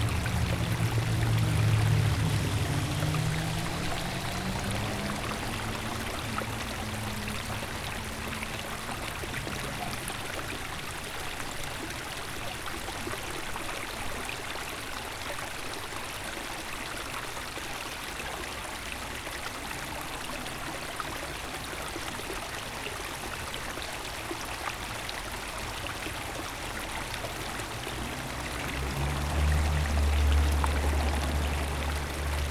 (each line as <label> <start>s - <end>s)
sellscheider creek flows into the eschbach creek 0.0s - 32.5s